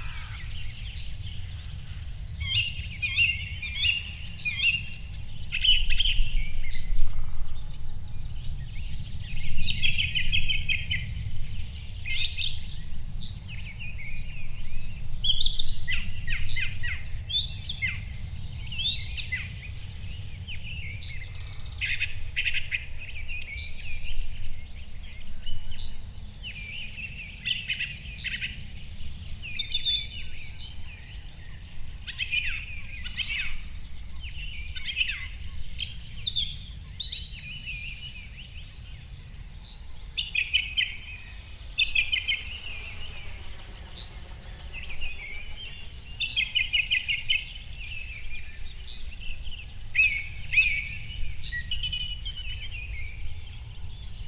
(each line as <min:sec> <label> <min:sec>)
0:00.0 morning birdscape in the fields 0:54.2
0:38.6 occasional traffic 0:49.1